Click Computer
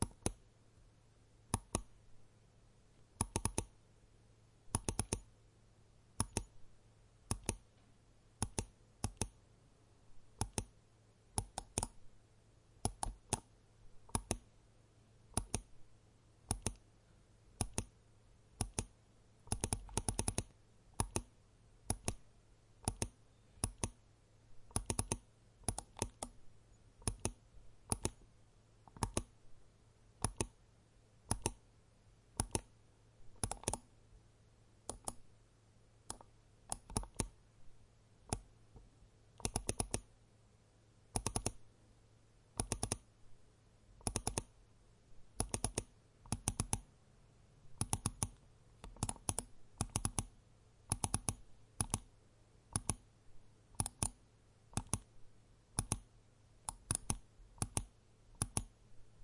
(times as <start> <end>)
0.0 0.4, 1.5 1.9, 3.2 3.7, 4.7 5.3, 6.2 6.6, 7.3 7.8, 8.4 9.4, 10.4 10.8, 11.4 12.0, 12.8 13.5, 15.3 15.7, 16.5 16.8, 17.6 17.9, 18.6 18.9, 19.5 21.3, 21.9 22.2, 22.8 24.0, 24.7 26.4, 27.0 28.2, 28.9 29.3, 30.2 30.6, 31.3 31.6, 32.4 32.7, 33.4 33.9, 34.9 35.2, 36.1 37.4, 39.4 40.1, 41.1 41.6, 42.6 43.1, 44.0 44.5, 45.4 46.9, 47.8 50.3, 50.9 52.1, 52.7 53.0, 53.8 55.1, 55.8 56.1, 56.7 58.7